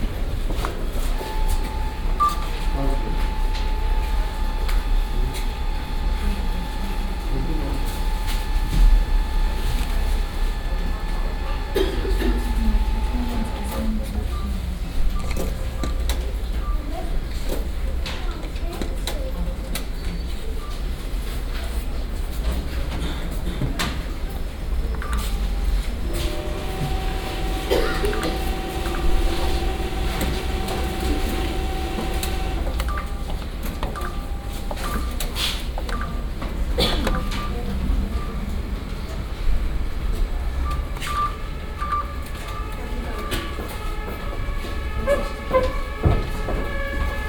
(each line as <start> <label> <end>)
0.5 cash machines 18.2
24.8 cash machines 38.8